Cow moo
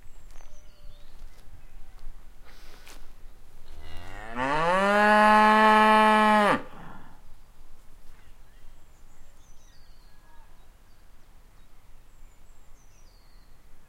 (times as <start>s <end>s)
3.8s 7.0s